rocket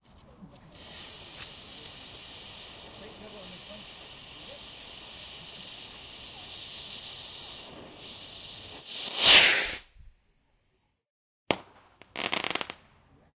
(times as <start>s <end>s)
6.2s 10.1s